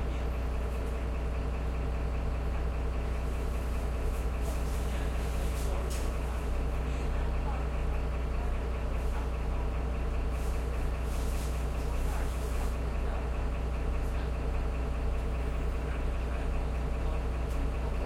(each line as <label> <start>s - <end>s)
URBAN BUS 0.0s - 18.0s